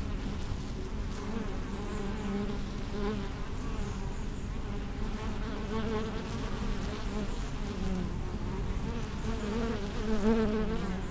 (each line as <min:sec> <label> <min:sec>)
0:04.6 hive of bees 0:11.1